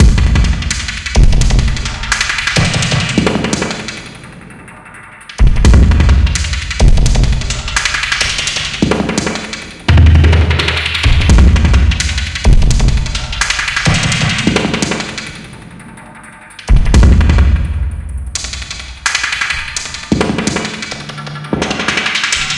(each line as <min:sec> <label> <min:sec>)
0:00.0 Glitch Drum loop 0:04.0
0:05.4 Glitch Drum loop 0:15.2